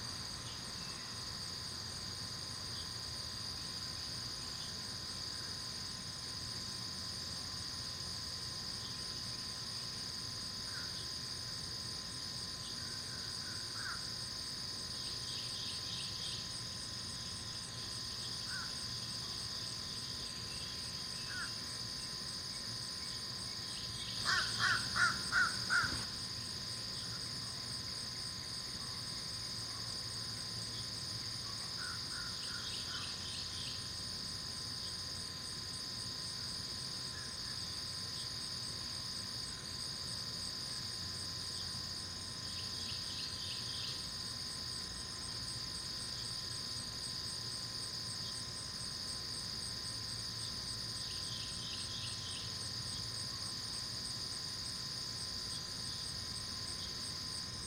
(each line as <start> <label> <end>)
0.0 Insects 57.6
24.2 very talkative Crow 26.0